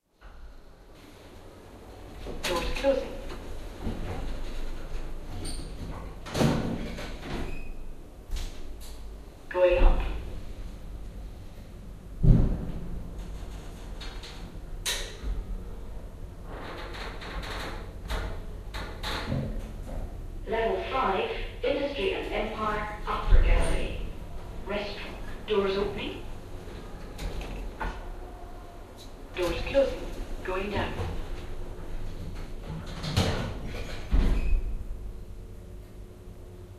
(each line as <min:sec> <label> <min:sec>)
0:00.2 Lift/elevator 0:36.7